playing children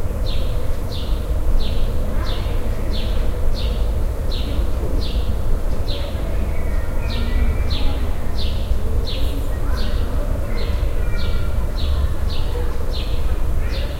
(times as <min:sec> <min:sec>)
0:04.6 0:13.9